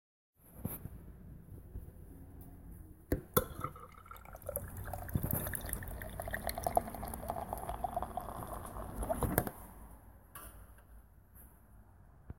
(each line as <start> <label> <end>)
3.4 pint being poured from tap 9.5